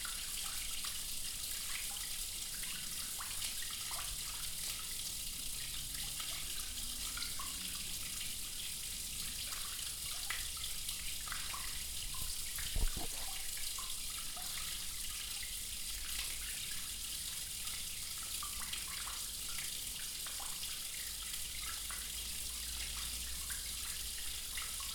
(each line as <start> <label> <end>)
10.3 water drain 15.6